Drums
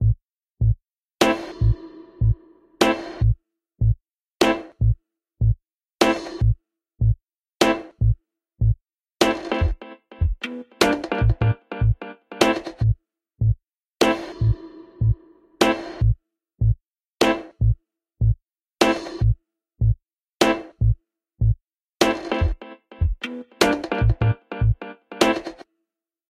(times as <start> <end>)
22.2 24.3